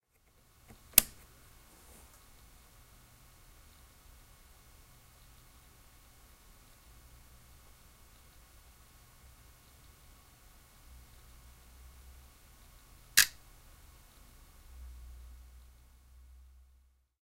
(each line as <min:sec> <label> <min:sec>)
0:13.2 click 0:13.4